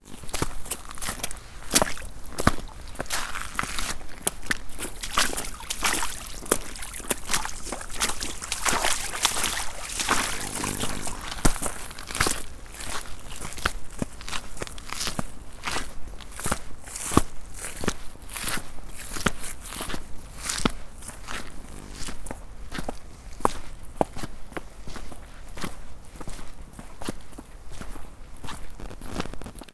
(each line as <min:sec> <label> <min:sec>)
0:00.1 Stream 0:12.4
0:00.2 Stomping and sloshing through a creek bed and river rocks 0:15.0
0:04.8 Ocean 0:12.2